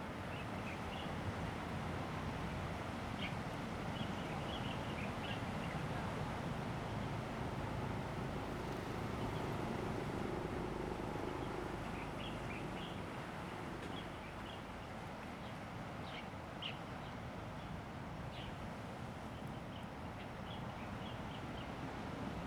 0.0s waves 22.4s

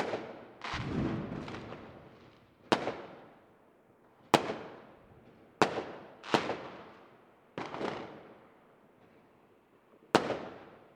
0.0s fireworks 3.4s
5.6s fireworks 7.0s
7.6s fireworks 8.4s
10.1s fireworks 10.9s

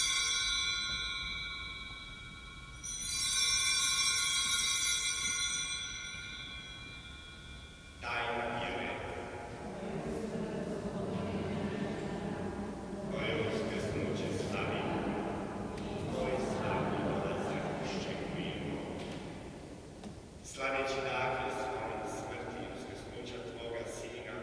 0.0s Priest 24.4s
8.0s believers 19.6s

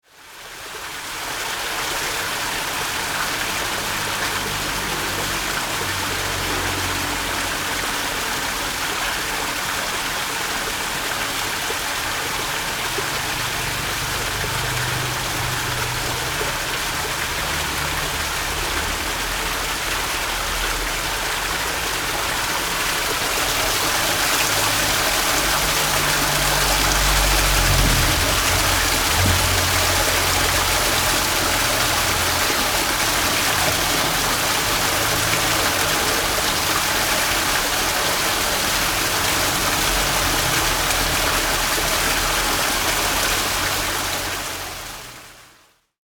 0.0s water 46.0s

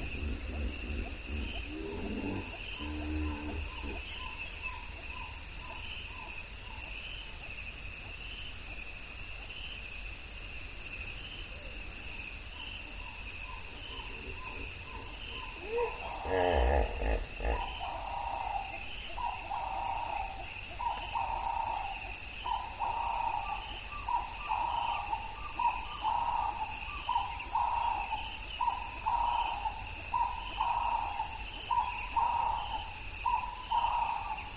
0.0s Ground Hornbills 4.7s
0.0s Hippos 5.8s
13.4s Hippos 34.5s
13.6s Ground Hornbills 20.2s

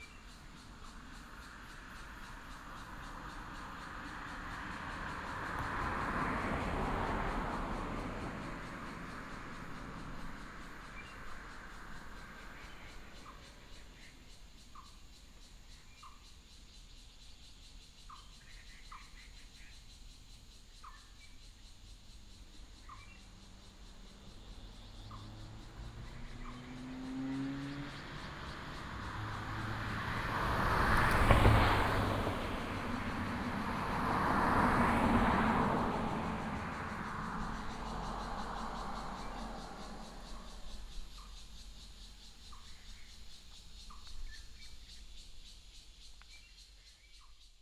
0.0s Traffic sound 15.7s
0.0s birds 47.6s
18.5s Traffic sound 46.5s

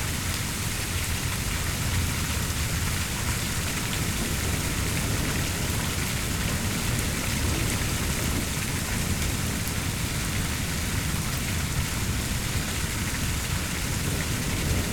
0.0s Rainfall 14.9s

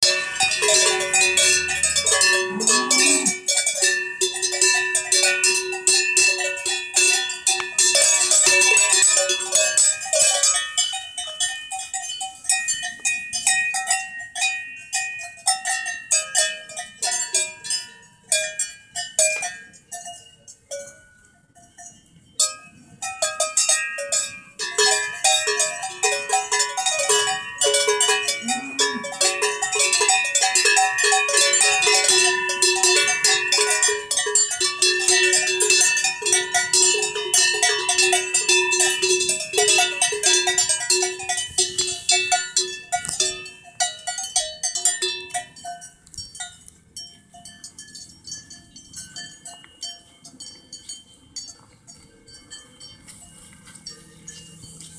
0.0s cow bells 54.9s

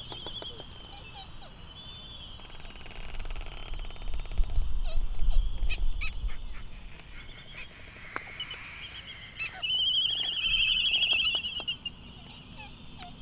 0.0s canary 13.2s

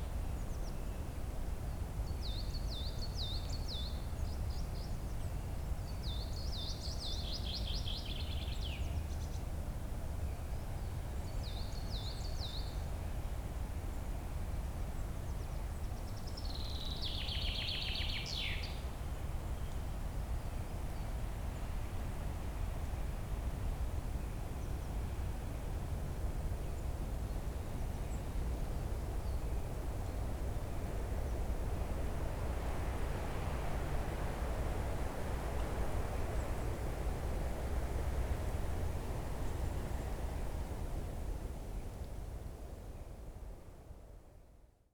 15.0s wind in trees 44.5s

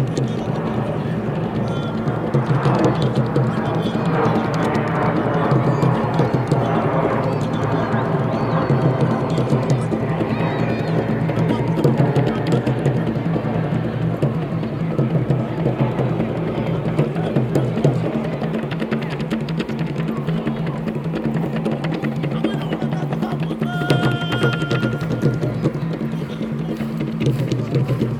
0.0s drummers 28.1s
16.2s young people in intense movement 28.1s

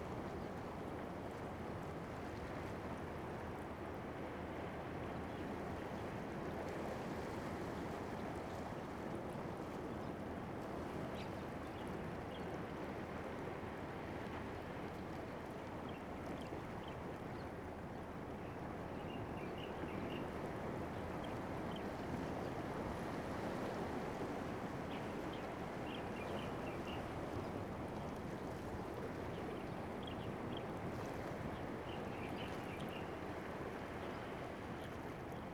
0.0s waves 35.5s

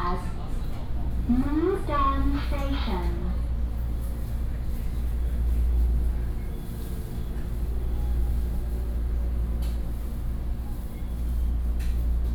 0.0s Inside the train 12.3s

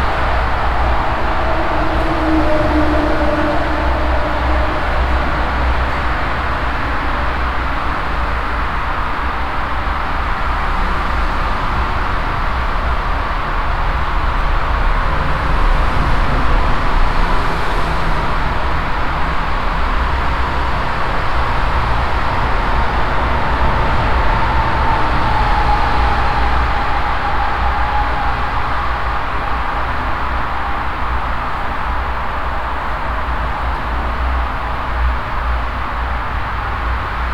0.0s constantly passing by traffic that is resonating inside the concrete tube 37.3s

